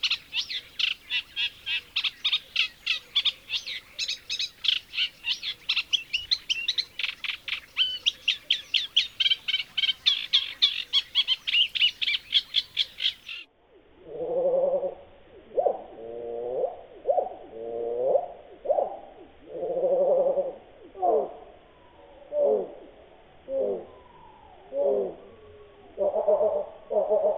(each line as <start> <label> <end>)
0.0 Eurasian Reed Warbler 13.5